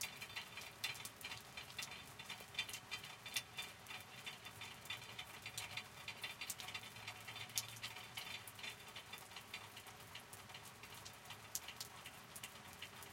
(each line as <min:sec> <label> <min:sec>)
0:00.0 rain 0:13.1